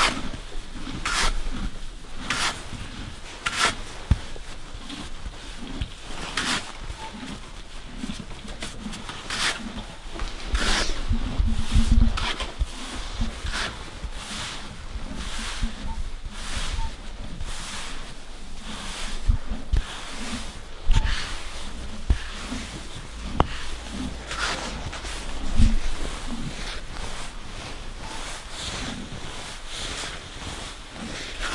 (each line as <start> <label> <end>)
0.0 Horse being brushed from close 31.5